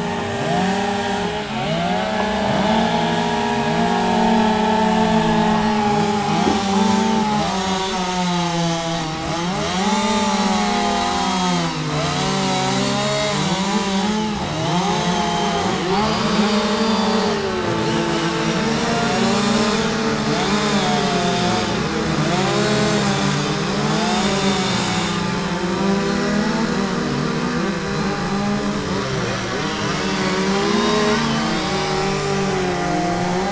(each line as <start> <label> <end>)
0.0 Chainsawing competition 33.5